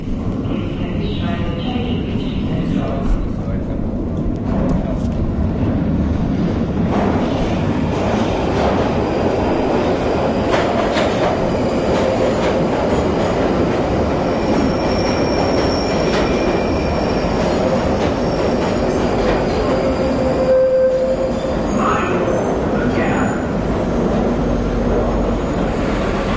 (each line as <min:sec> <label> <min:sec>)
0:00.0 train arriving 0:26.3